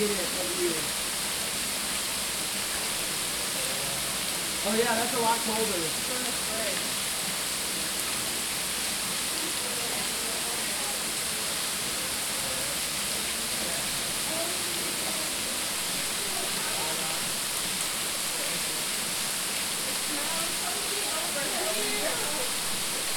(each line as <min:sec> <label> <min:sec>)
0:00.0 Families taking pictures and playing in the water 0:23.1